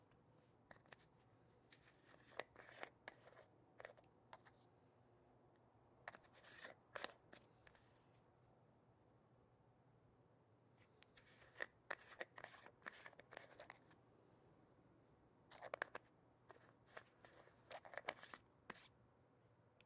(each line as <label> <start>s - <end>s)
Brushing hair with a brush 16.5s - 18.9s